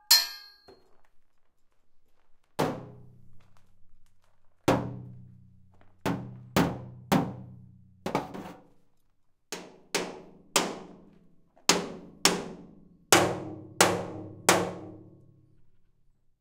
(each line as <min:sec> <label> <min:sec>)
0:00.0 metal hits 0:00.7